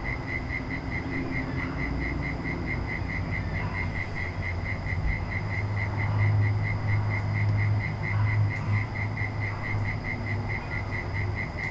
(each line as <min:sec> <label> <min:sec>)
0:00.0 Crickets 0:11.7